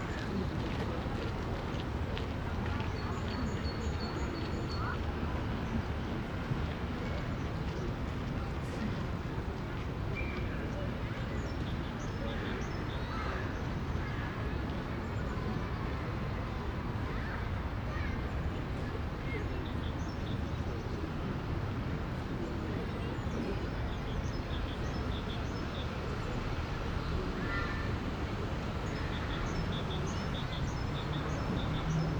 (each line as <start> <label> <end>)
0.0 Lot of people out in the parc 32.1
10.8 Street traffic 32.1